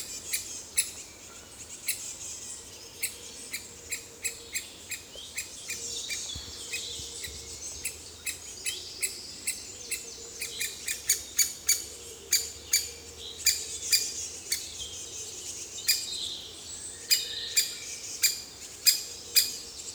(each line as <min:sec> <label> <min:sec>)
0:00.0 Anxious Great Spotted Woodpecker 0:16.4
0:00.0 blackbird 0:19.9
0:17.0 Anxious Great Spotted Woodpecker 0:19.9